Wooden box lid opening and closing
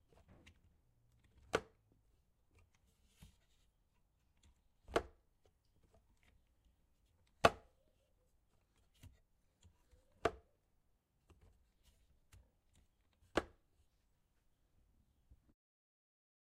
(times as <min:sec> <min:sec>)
0:01.3 0:01.8